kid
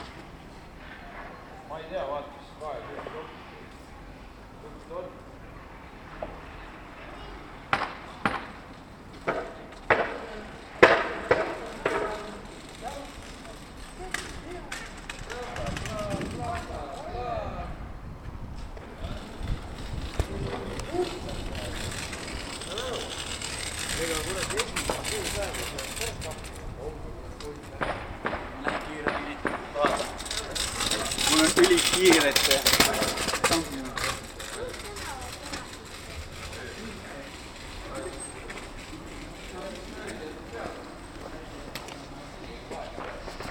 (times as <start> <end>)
30.9 36.6